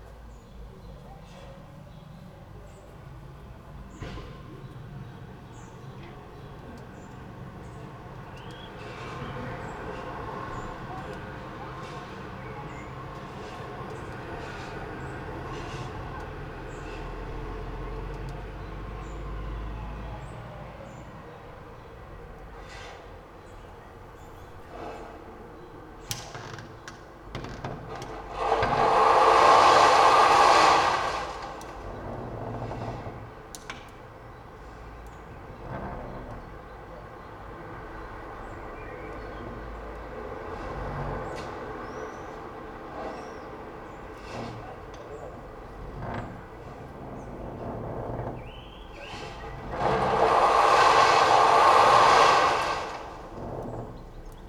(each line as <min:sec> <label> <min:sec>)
0:26.0 inner window creaks 0:29.1
0:28.2 sand 0:32.6
0:31.7 inner window creaks 0:34.8
0:44.0 inner window creaks 0:54.4
0:48.4 sand 0:54.0